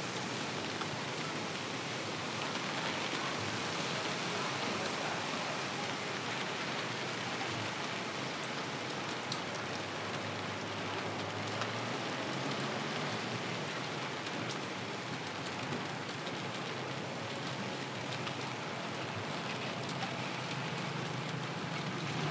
Rain drops 0:00.0 - 0:22.3

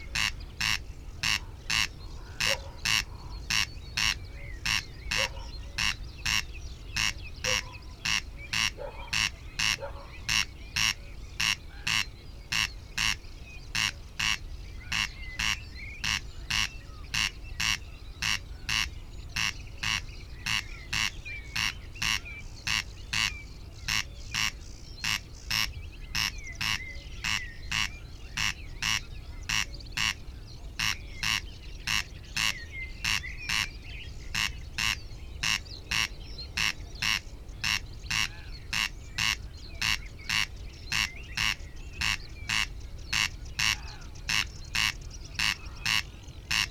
greylag geese 0:00.0 - 0:33.7
blackbird 0:00.0 - 0:46.7
moorhen 0:00.0 - 0:46.7
reed bunting 0:00.0 - 0:46.7
sedge warbler 0:00.0 - 0:46.7
song thrush 0:00.0 - 0:46.7
dog 0:02.4 - 0:02.9
dog 0:05.1 - 0:05.6
dog 0:08.8 - 0:10.2
greylag geese 0:34.3 - 0:46.7
crow 0:34.4 - 0:46.7

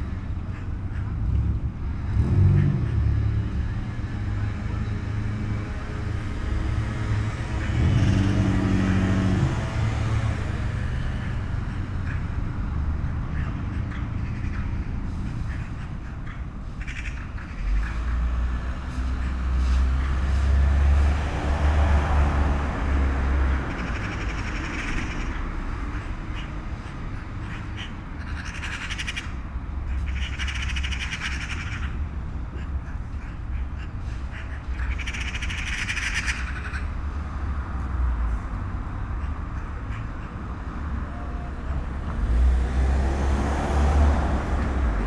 10 magpies in a tree 0:06.4 - 0:37.1

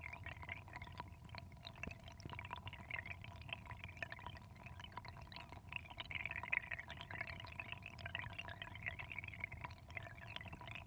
little stream next to a drain 0:05.8 - 0:10.8

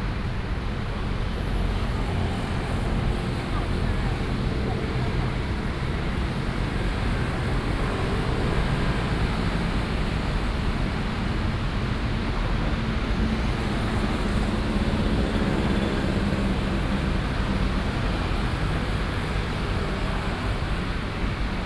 Traffic Sound 0:00.0 - 0:21.6

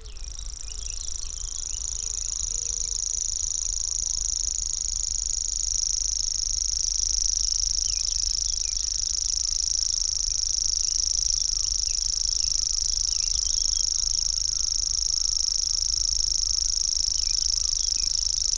Grasshopper warbler 0:00.0 - 0:18.5

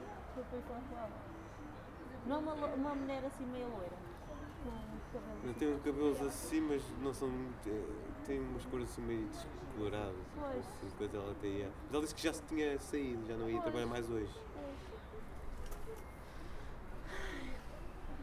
students talking 0:00.0 - 0:18.2

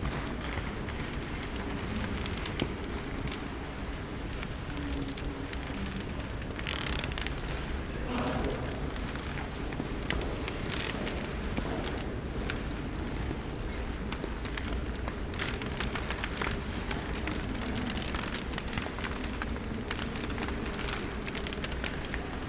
creaky old parquet floor 0:00.0 - 0:22.4

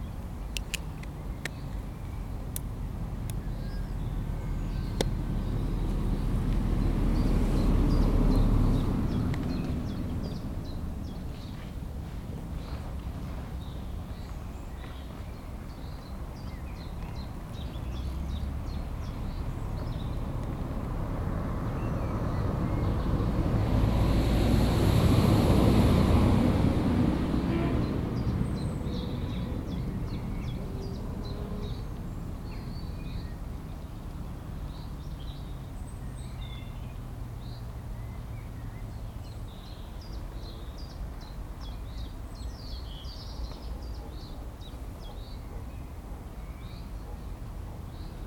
bird calls 0:12.6 - 0:20.6

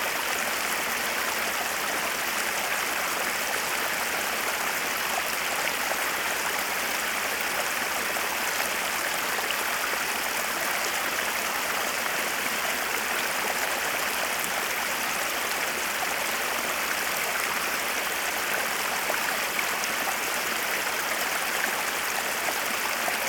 Waterfall flowing down the Winter mountains 0:00.0 - 0:23.2

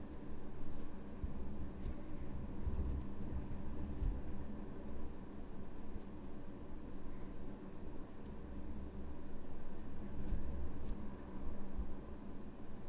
wind tumbling in the air vent 0:00.3 - 0:07.2
wind tumbling in the air vent 0:07.8 - 0:12.8

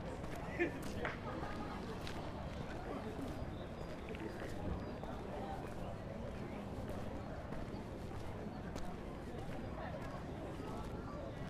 people are sitting on the lawn 0:00.0 - 0:11.4

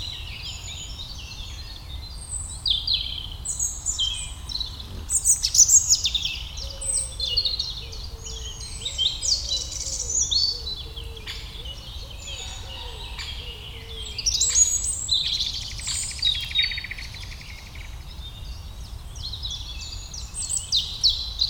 Eurasian Blackcap 0:00.0 - 0:18.6
Eurasian Wren 0:00.0 - 0:21.4
Robin 0:03.6 - 0:14.5
plump mosquito on the microphone 0:04.6 - 0:05.6

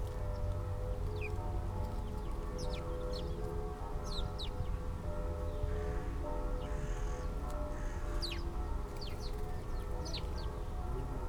churchbells 0:00.0 - 0:11.2

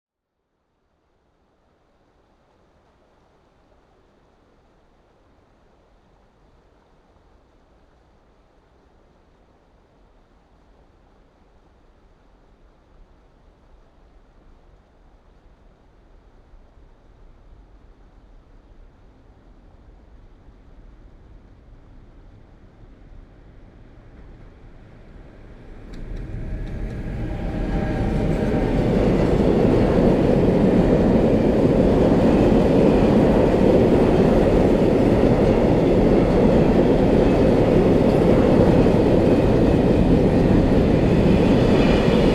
Passenger train 0:05.6 - 0:42.3
freight trains 0:22.3 - 0:42.3

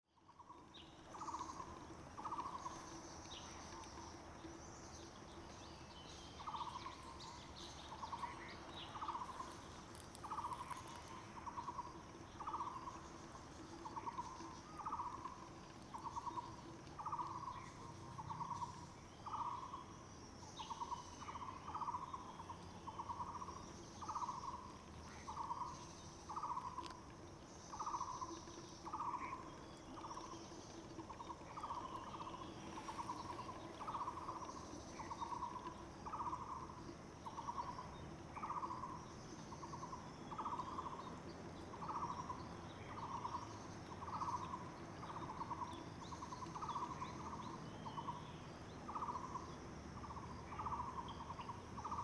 Bird sounds 0:20.5 - 0:52.0

